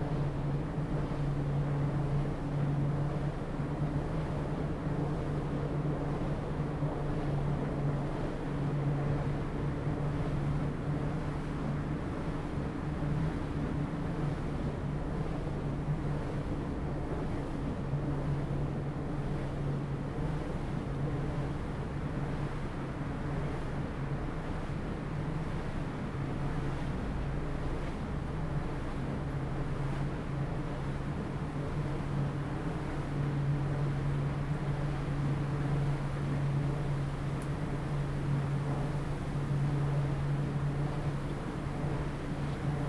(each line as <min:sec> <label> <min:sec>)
0:00.0 wind 0:42.8